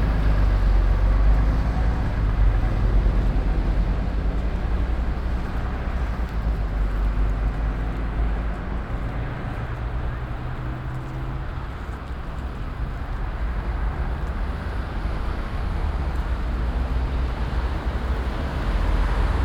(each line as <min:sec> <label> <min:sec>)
0:00.0 pedestrians and cyclists 0:19.4
0:00.0 traffic noise 0:19.4